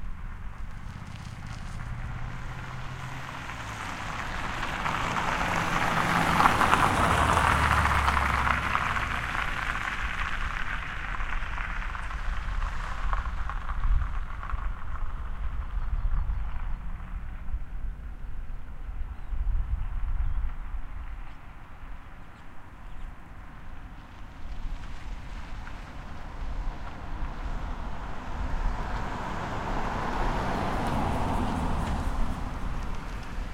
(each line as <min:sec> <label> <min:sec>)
0:00.0 cars 0:33.5
0:00.7 motorbike is passing by 0:10.4
0:24.5 motorbike is passing by 0:33.5